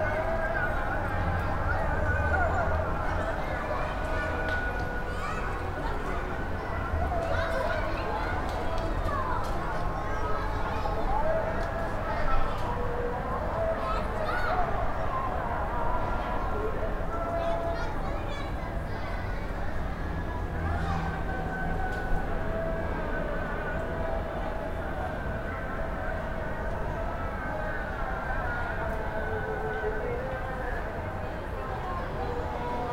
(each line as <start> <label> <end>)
0.0 prayer 32.9